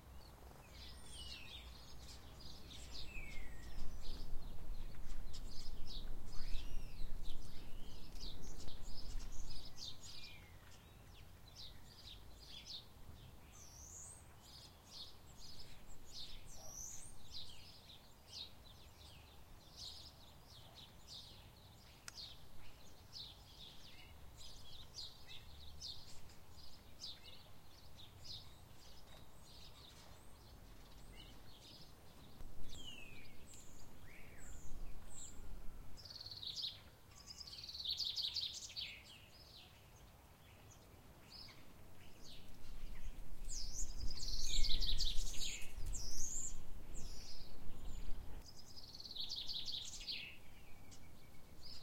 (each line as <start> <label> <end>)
0.0 Blackbird 51.8
0.0 House sparrows 51.8